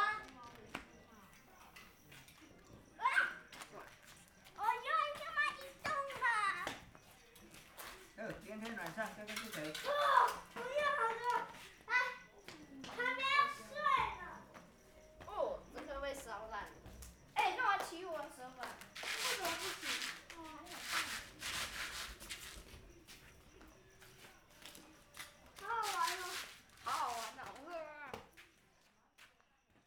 9.7s Kids playing firecrackers 13.9s
17.4s Kids playing firecrackers 22.8s
24.7s Kids playing firecrackers 27.8s

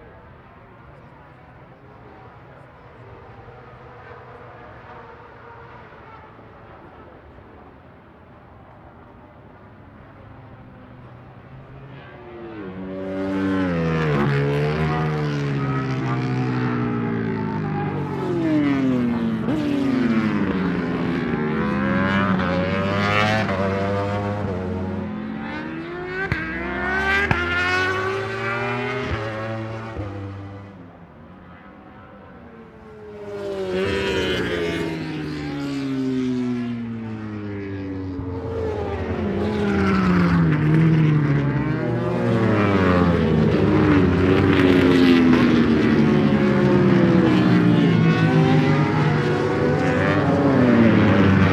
0.0s Motorcycle Grand Prix 51.5s

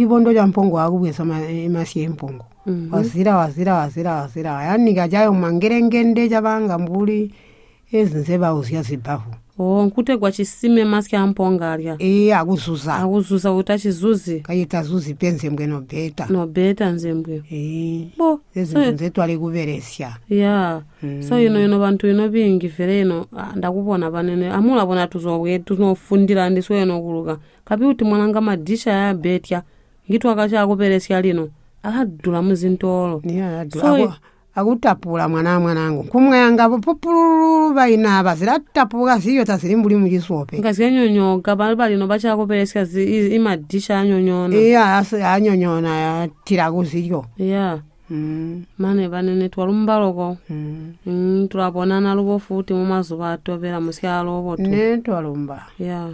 33.6s asks her grandmother 34.2s

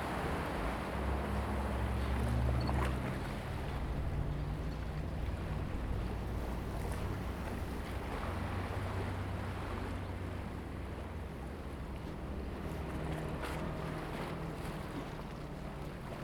0.0s Sound tide 16.2s

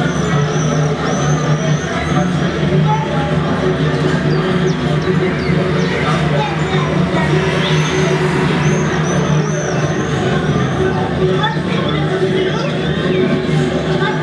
2.5s energic big cities 11.8s

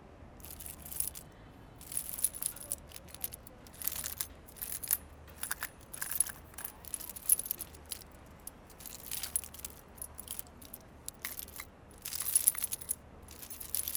0.4s play with the locks 13.9s

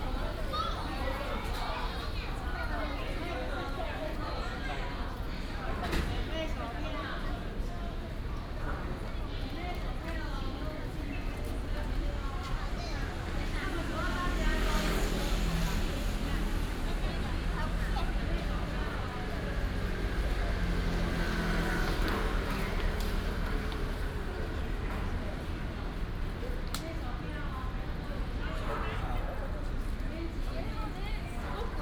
0.0s Many tourists 31.8s
10.9s traffic sound 31.6s

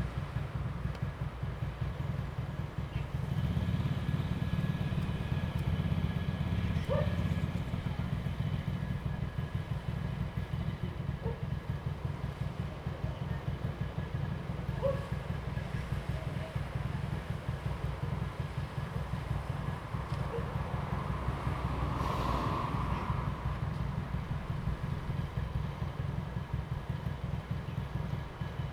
0.0s traffic sound 28.7s
6.7s Dog barking 7.4s
11.2s Dog barking 11.6s
14.7s Dog barking 15.2s
20.3s Dog barking 20.6s

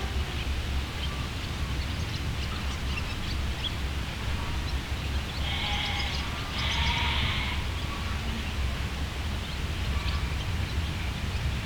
0.4s birds 8.4s

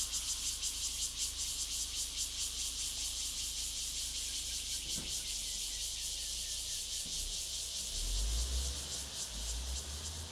0.0s Cicadas sound 10.3s

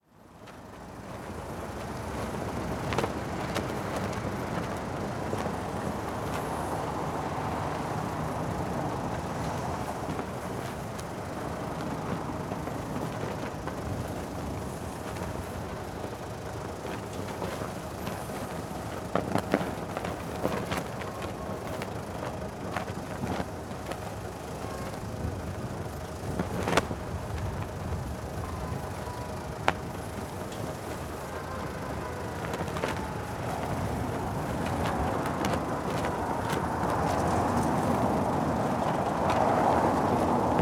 0.0s tourist bus idling nearby 40.6s
0.4s Portuguese flag yanking in the strong wind 40.6s

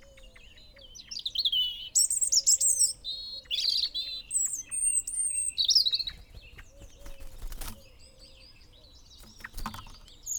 0.0s blackbird 10.3s
0.0s blue tit 10.3s
0.0s pheasant 10.3s

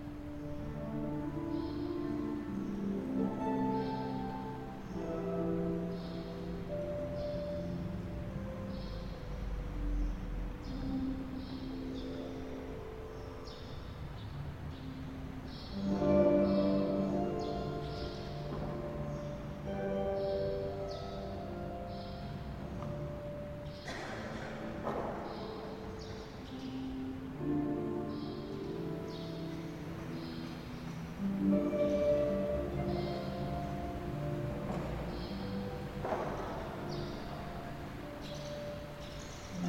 0.0s harp 39.6s

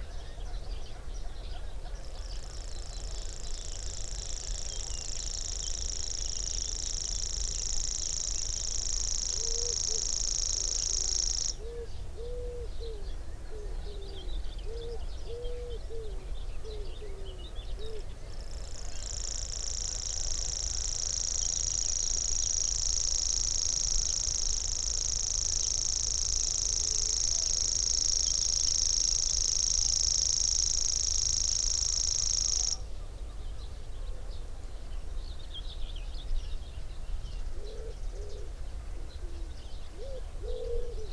0.0s background noise 41.1s
2.8s grasshopper warbler 11.6s
18.4s grasshopper warbler 32.8s

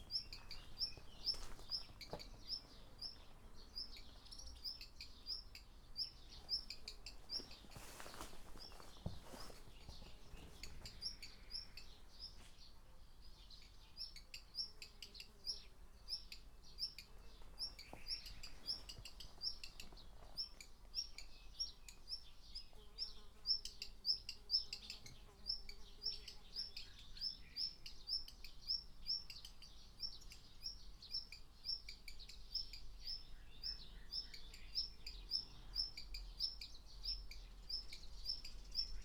0.0s walking around 4.3s
6.4s walking around 11.3s
17.2s walking around 20.9s

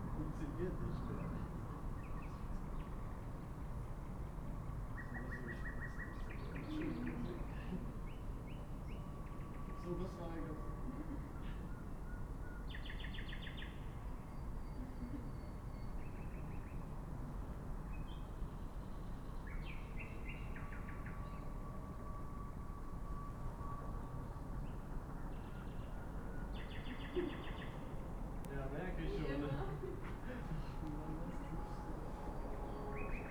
0.0s suburb trains arrive and depart 33.3s
28.5s people talking 32.2s
29.6s freight train rushes through 33.3s

